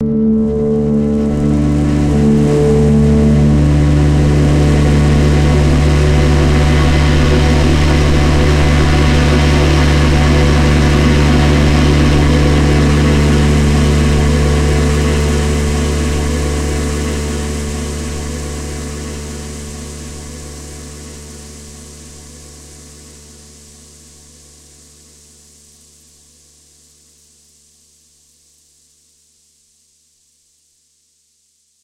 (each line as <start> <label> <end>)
0.0 strings 22.7
0.0 multisampled pad 26.6
0.4 rain 27.2